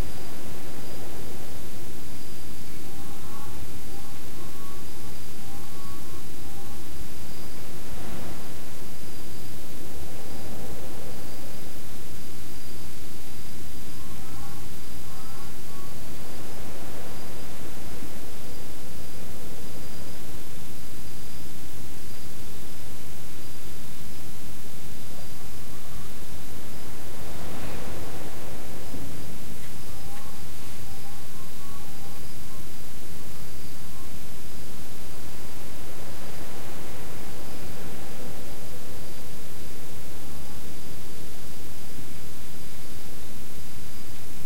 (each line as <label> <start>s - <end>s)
Crickets far away 0.0s - 44.4s